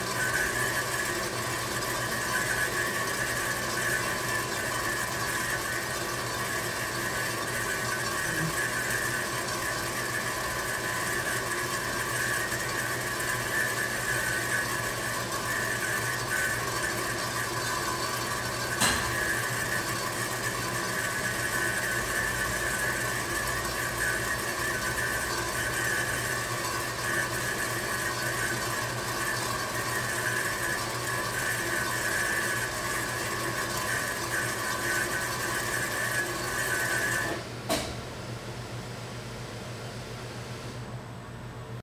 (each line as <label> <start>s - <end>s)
fills in water inside the brewing tank 0.0s - 41.8s